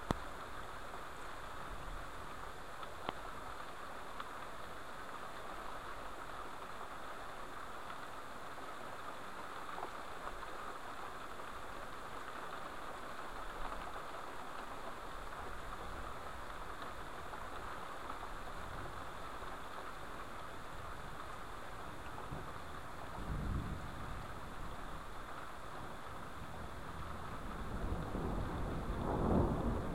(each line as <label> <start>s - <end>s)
thunder 27.6s - 29.9s